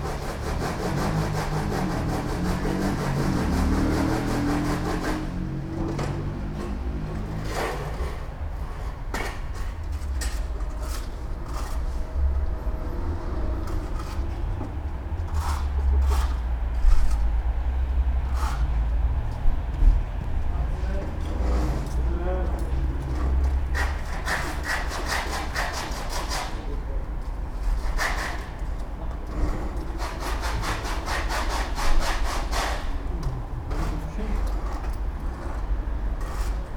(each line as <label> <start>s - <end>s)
construction workers renovating side of a building 0.0s - 36.7s
man walks up to me asking 20.3s - 22.8s